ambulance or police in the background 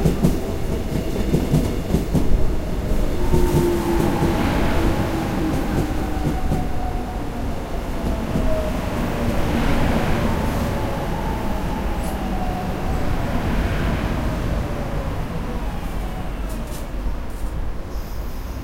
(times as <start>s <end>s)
3.2s 17.4s